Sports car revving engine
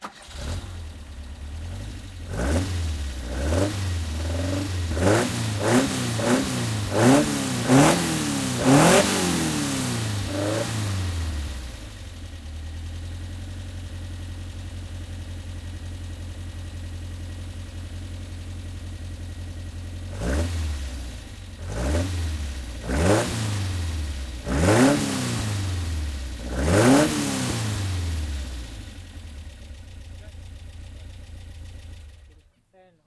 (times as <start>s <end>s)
0.3s 12.4s, 20.0s 32.1s